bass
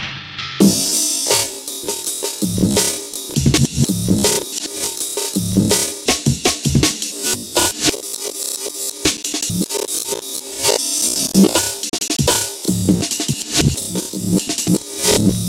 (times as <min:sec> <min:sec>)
0:02.4 0:04.4, 0:05.4 0:06.9, 0:09.4 0:09.7, 0:12.2 0:15.4